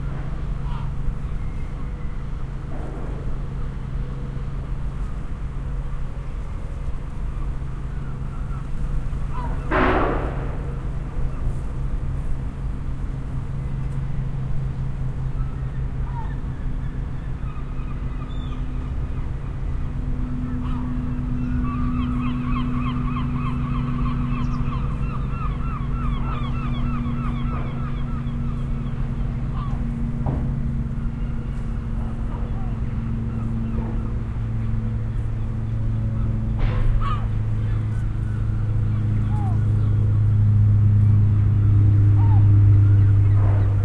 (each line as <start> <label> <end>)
7.3 seagulls 9.8
15.4 seagulls 19.6
20.4 seagulls 30.0
36.2 seagulls 40.2
42.2 seagulls 43.6